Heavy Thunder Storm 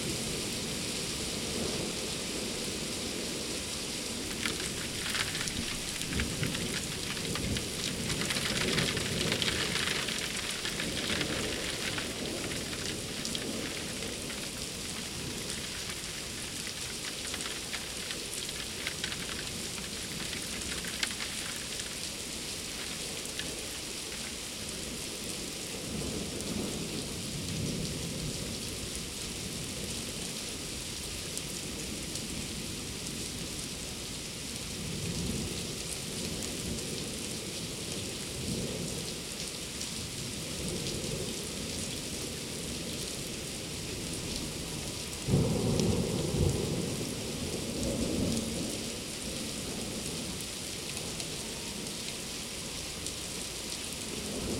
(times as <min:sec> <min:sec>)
0:04.2 0:23.9, 0:45.2 0:48.9